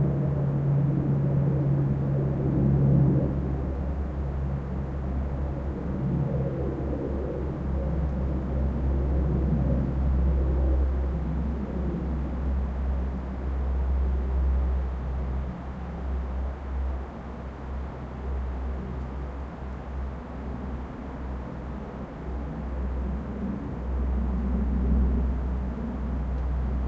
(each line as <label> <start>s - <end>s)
propeller aircraft 0.0s - 26.8s